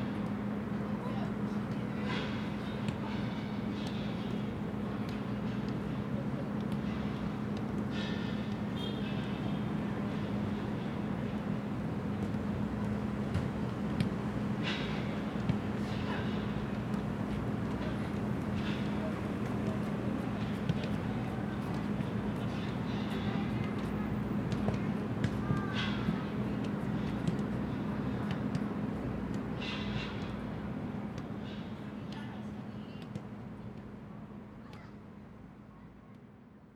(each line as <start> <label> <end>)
17.7 kids playing soccer 30.6
31.2 kids playing soccer 36.2